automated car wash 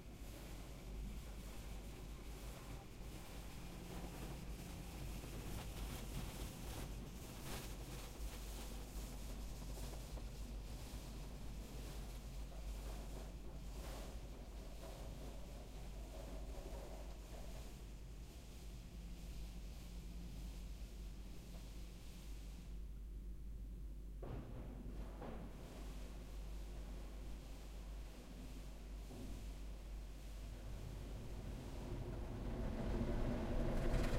0:28.2 0:34.1

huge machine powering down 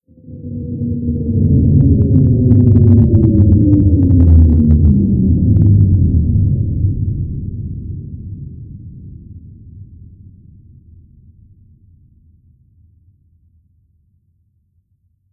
0:00.2 0:07.4

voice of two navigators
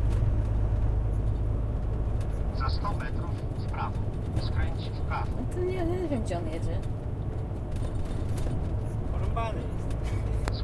0:02.5 0:06.0

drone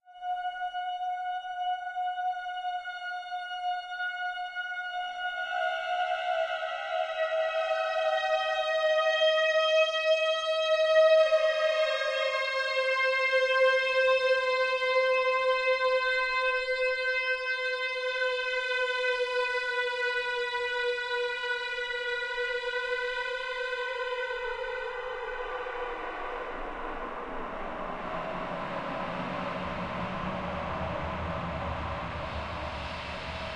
0:23.6 0:33.5

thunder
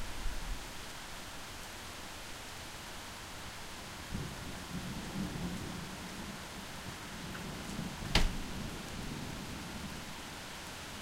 0:04.1 0:06.4, 0:07.2 0:09.9

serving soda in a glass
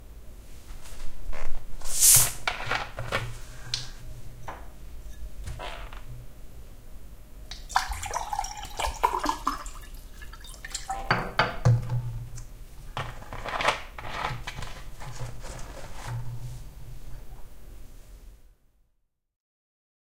0:07.5 0:11.3

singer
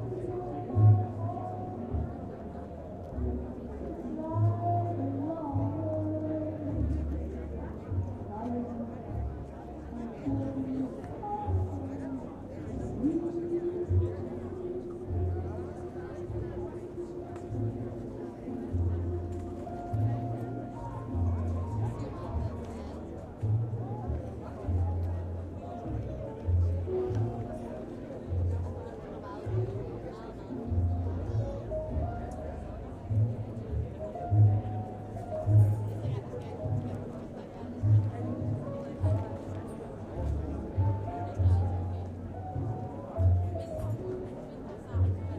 0:00.0 0:23.2

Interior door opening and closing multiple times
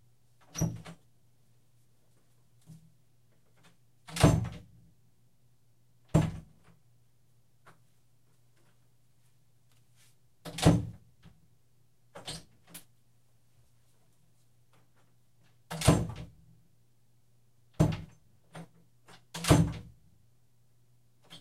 0:00.4 0:01.1, 0:03.4 0:04.8, 0:06.0 0:06.8, 0:10.4 0:11.4, 0:12.1 0:12.8, 0:15.4 0:16.4, 0:17.7 0:20.0

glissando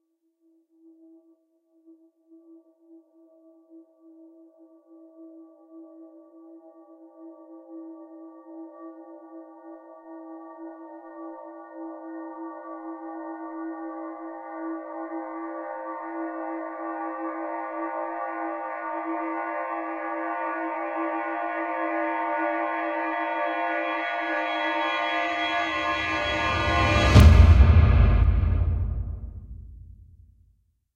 0:23.4 0:29.8

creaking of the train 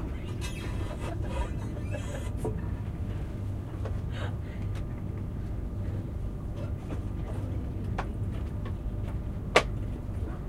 0:00.0 0:05.6

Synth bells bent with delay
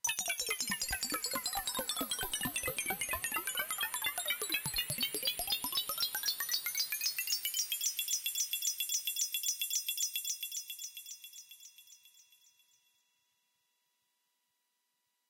0:00.1 0:06.7

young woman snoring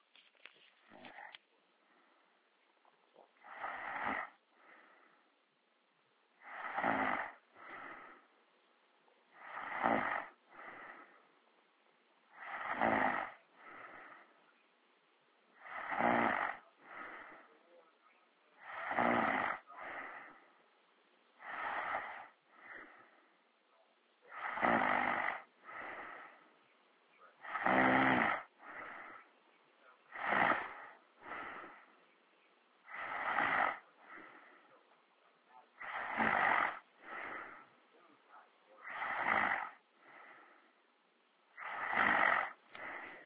0:00.9 0:01.4, 0:03.4 0:04.4, 0:06.4 0:08.2, 0:09.4 0:11.1, 0:12.3 0:14.3, 0:15.6 0:17.5, 0:18.6 0:20.4, 0:21.4 0:23.0, 0:24.3 0:26.4, 0:27.4 0:29.3, 0:30.1 0:31.9, 0:32.9 0:34.5, 0:35.8 0:37.7, 0:38.8 0:40.4, 0:41.5 0:43.2

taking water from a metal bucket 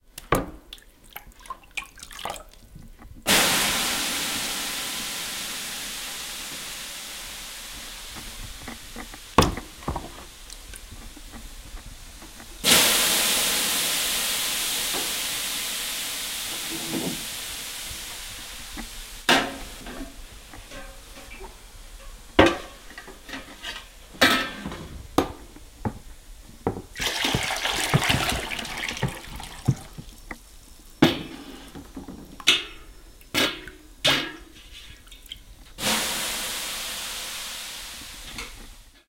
0:26.9 0:30.2

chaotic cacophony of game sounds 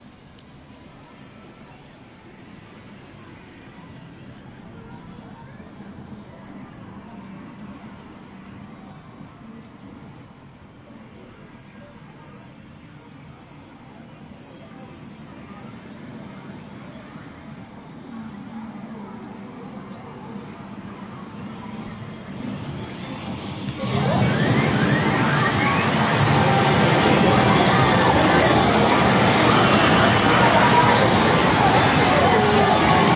0:14.3 0:33.1

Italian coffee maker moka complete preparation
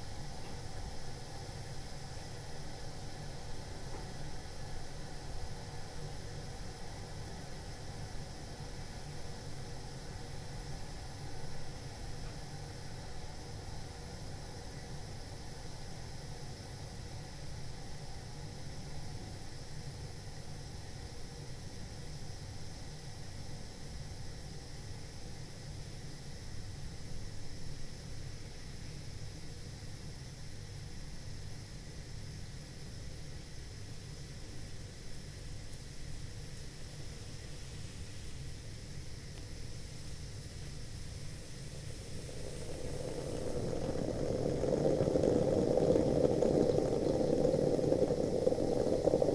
0:41.0 0:49.3

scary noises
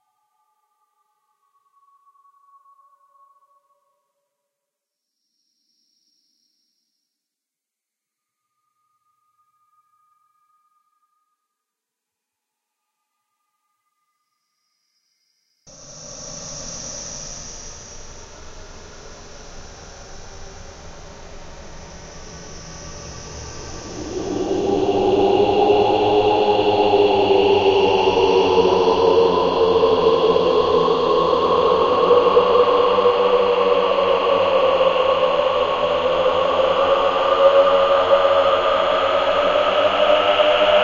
0:15.7 0:40.8

